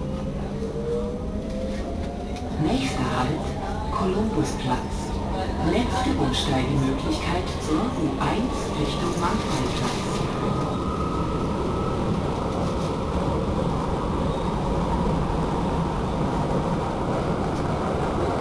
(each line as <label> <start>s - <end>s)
metro-ride 0.0s - 18.4s
announcement 2.3s - 11.2s